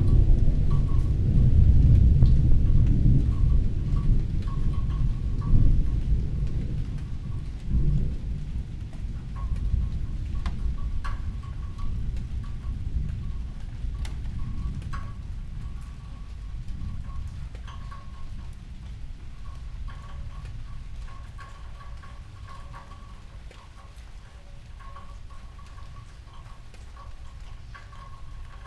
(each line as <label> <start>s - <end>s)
distant thunder 0.0s - 18.2s
light rain 0.0s - 28.6s